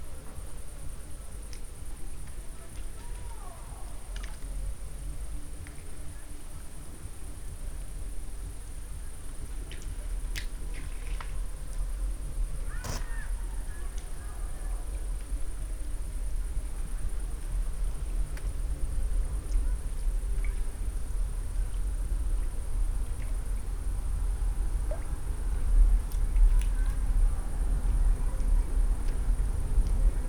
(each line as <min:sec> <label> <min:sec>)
0:02.4 people talking 0:04.2
0:12.6 people talking 0:15.2
0:19.3 people talking 0:20.0
0:26.4 people talking 0:28.8